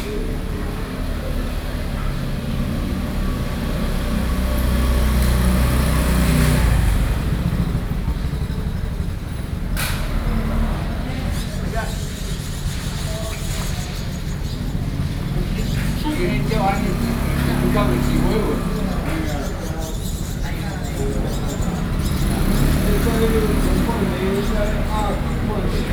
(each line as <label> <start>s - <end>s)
group of old men sitting outside the community center chat 0.0s - 25.9s